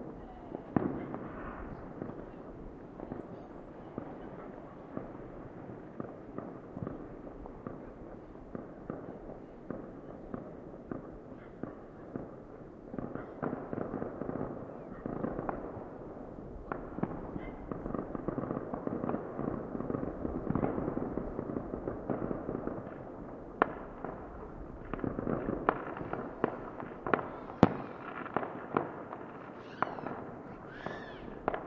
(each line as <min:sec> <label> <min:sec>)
0:00.0 Fireworks 0:31.6
0:29.6 child suddenly shouting 0:31.4